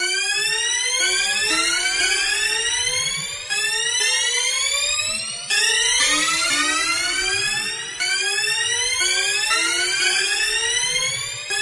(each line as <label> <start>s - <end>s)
synth 0.0s - 11.6s